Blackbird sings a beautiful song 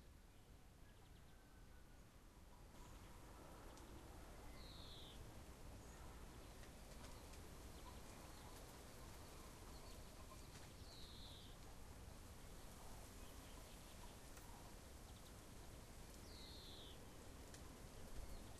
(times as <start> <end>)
4.4 5.2, 9.7 11.6, 16.2 17.1